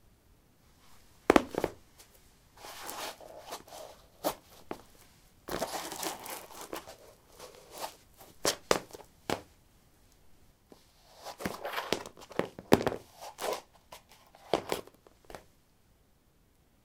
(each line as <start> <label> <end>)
1.3 Putting high heels on/off on linoleum 1.8
2.6 Putting high heels on/off on linoleum 9.5
11.3 Putting high heels on/off on linoleum 15.5